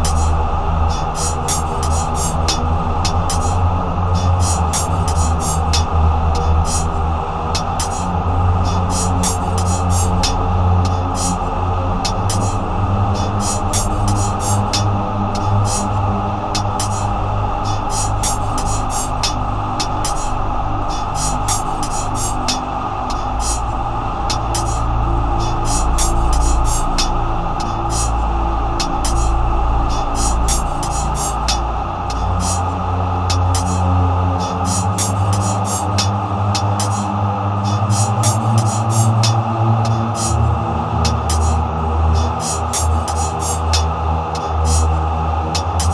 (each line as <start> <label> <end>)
0.0 CHOIR 45.9